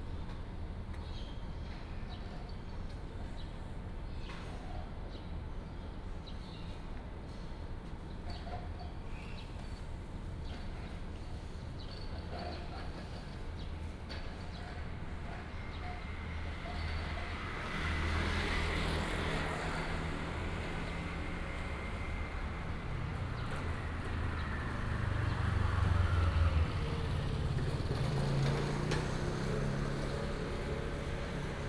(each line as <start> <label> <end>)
7.0 Traffic sound 31.6